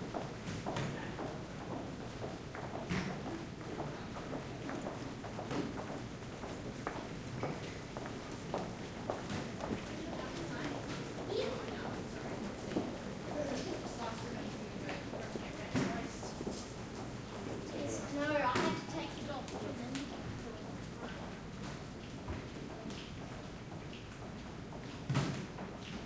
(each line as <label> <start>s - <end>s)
people passing on a hard floor 0.0s - 26.0s